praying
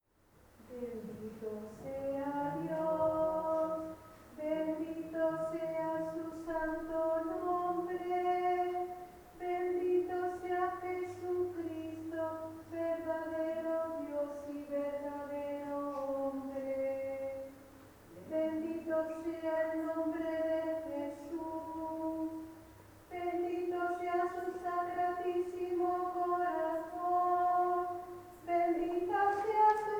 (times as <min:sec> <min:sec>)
0:00.7 0:05.9